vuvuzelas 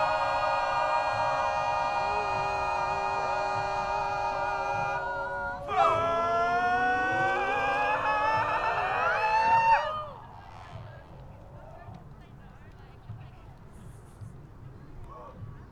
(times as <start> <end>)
0.0 11.2